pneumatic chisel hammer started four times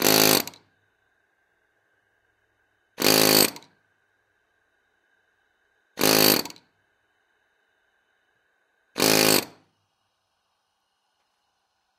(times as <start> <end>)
0.0 0.6, 3.0 3.7, 6.0 6.6, 9.0 9.6